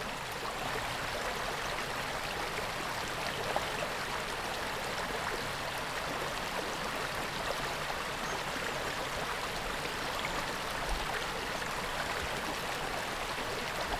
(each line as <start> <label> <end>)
0.0 rippling brook 13.9